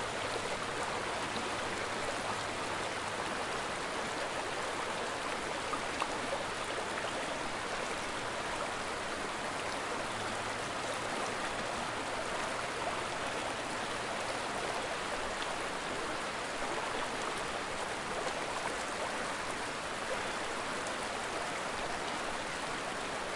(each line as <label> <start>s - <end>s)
water is moving a little faster over the rocks 0.0s - 23.3s